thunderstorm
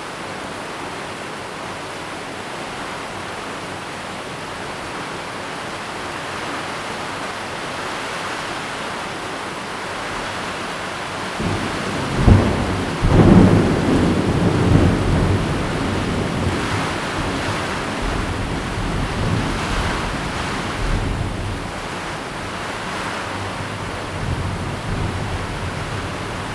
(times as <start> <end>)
11.2 26.5